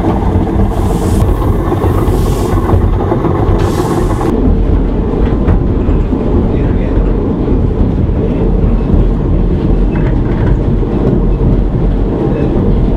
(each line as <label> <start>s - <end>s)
watermill 0.0s - 4.3s